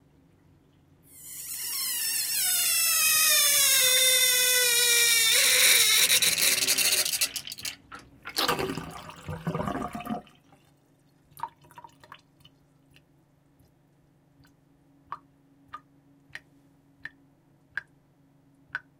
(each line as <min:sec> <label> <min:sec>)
0:05.0 Kitchen Sink Draining 0:10.3